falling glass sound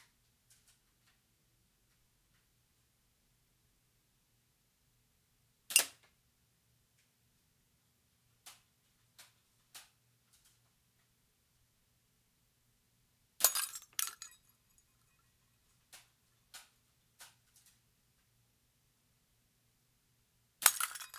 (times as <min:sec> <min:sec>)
0:13.4 0:15.2, 0:20.6 0:21.1